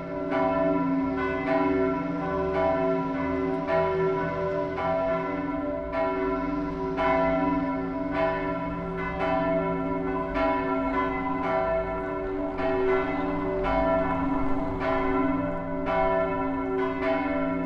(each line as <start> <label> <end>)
0.0 The Bells of Mariekirken 17.6
0.0 traffic 17.6